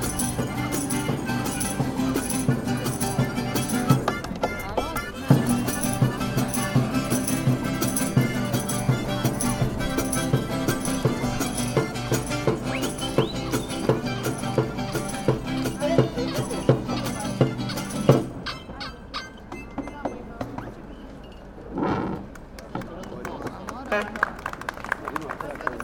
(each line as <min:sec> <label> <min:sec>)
0:00.0 One Man Band 0:18.8